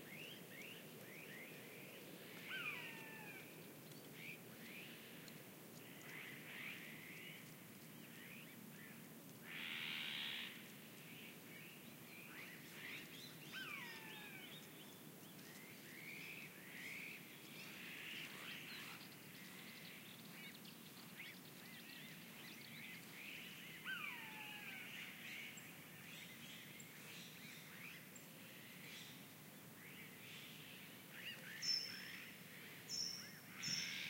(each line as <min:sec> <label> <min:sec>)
0:00.1 bird calls 0:05.0
0:05.8 bird calls 0:28.1
0:29.8 bird calls 0:34.0